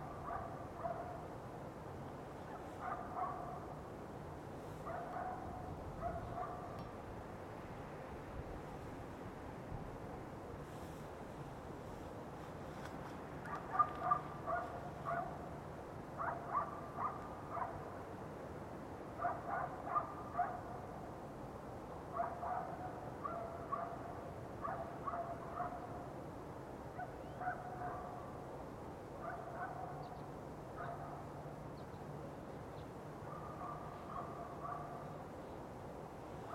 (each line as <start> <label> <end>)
0.0 distant hum of the city 36.5
0.1 dogs barking 1.2
2.0 forest rustling 15.3
2.5 dogs barking 3.7
4.8 dogs barking 6.9
13.4 dogs barking 15.5
16.2 dogs barking 17.8
19.2 dogs barking 20.7
22.1 dogs barking 26.0
27.0 dogs barking 28.2
29.2 dogs barking 30.0
30.8 dogs barking 31.2
33.3 dogs barking 35.2